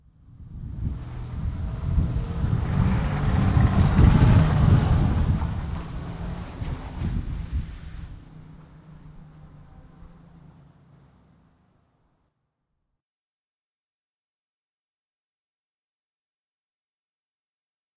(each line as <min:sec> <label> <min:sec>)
0:00.1 Car driving past 0:12.3